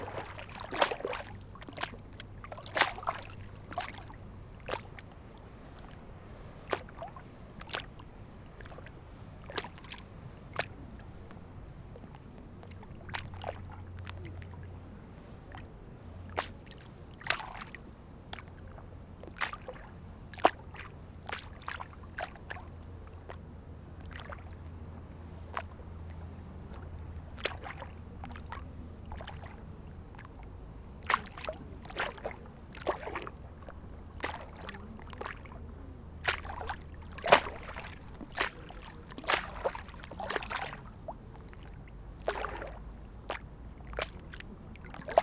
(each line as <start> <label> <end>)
0.0 small waves crash on the border 45.2
0.0 wind 45.2